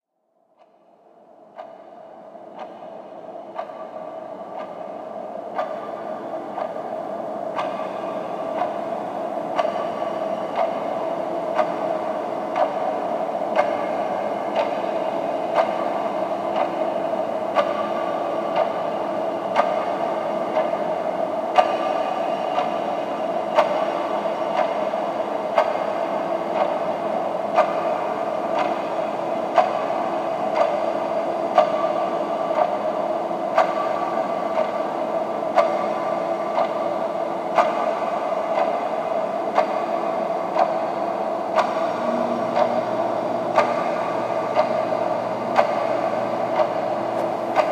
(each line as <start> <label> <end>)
0.4 wall clock 47.7